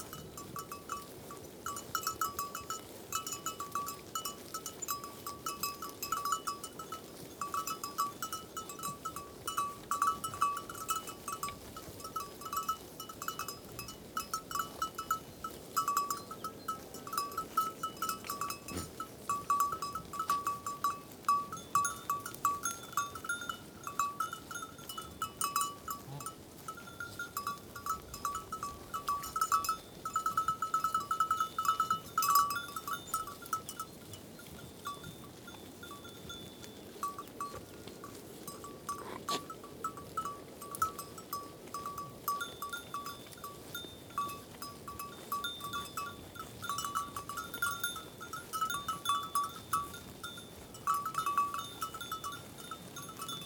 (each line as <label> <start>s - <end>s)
Goats grazing in the meadows 0.0s - 53.4s